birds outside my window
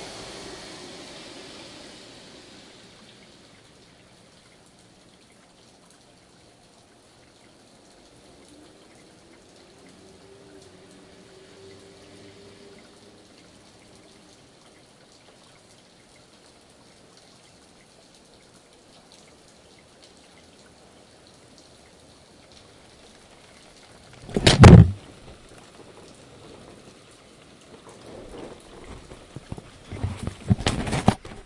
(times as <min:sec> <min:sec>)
0:00.0 0:24.8